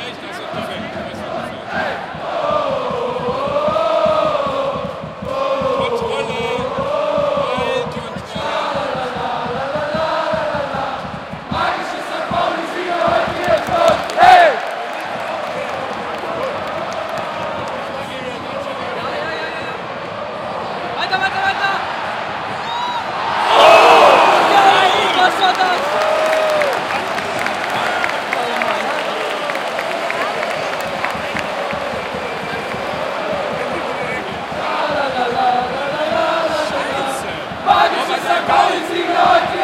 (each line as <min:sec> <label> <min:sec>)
0:00.0 soccer game 0:39.6
0:12.8 Cheers 0:39.6